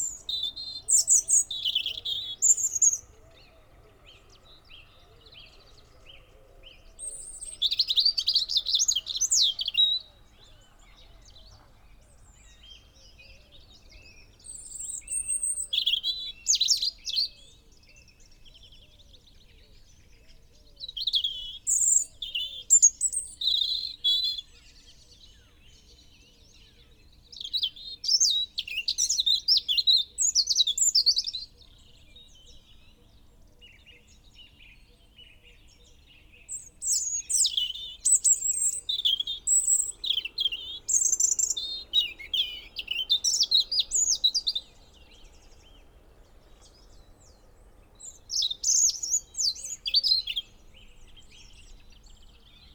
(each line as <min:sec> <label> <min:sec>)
0:00.0 crow 0:14.0
0:00.0 blue tit 0:19.2
0:00.0 blackbird 0:52.7
0:00.0 pheasant 0:52.7
0:00.0 robin song 0:52.7
0:00.0 song thrush 0:52.7
0:19.8 blue tit 0:52.7